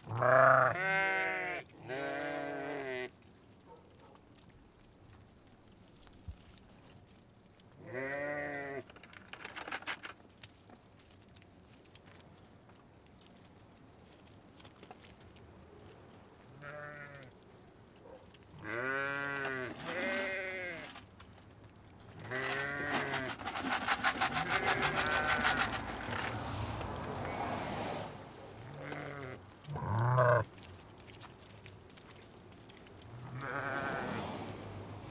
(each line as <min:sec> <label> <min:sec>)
0:15.7 Rams 0:21.2
0:22.0 Rams 0:35.1
0:22.4 shaking the food 0:27.0